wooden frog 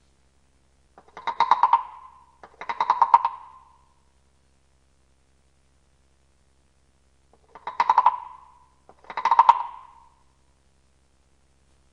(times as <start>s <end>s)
0.9s 4.2s, 7.3s 10.4s